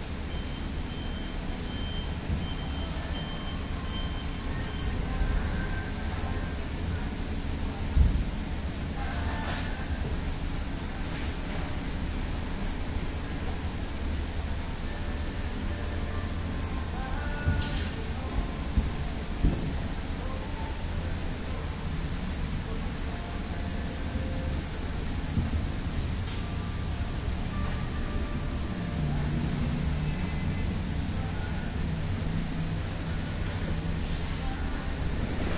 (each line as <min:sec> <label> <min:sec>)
0:00.0 workers maintaining the exterior 0:35.5
0:00.3 beep 0:05.0
0:01.3 customers browsing plants 0:35.5